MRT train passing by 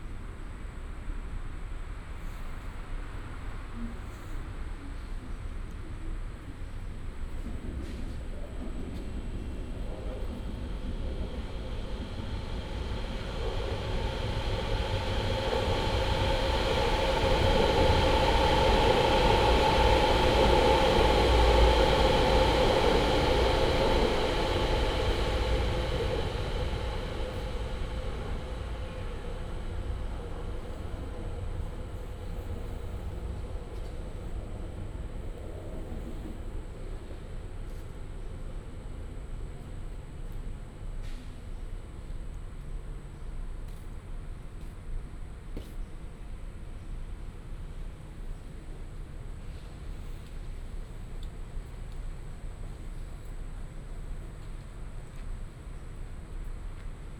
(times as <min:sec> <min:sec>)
0:06.7 0:39.4